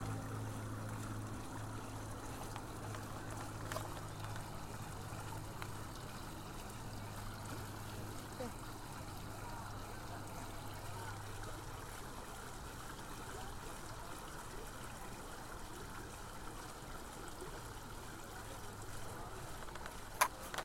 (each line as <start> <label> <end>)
0.0 fuente agua 20.6